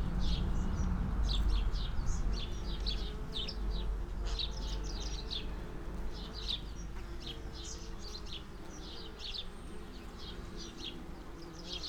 bees on lavender 0:02.6 - 0:11.8

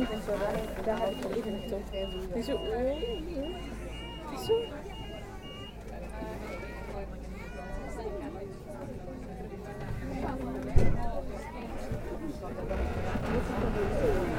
Tram ride 0:00.0 - 0:14.3

